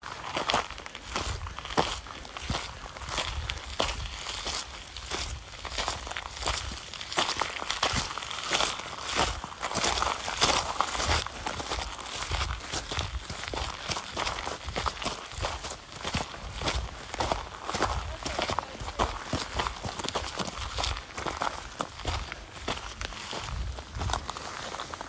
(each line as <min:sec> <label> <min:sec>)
0:00.0 Walking On Unpaved Road 0:25.0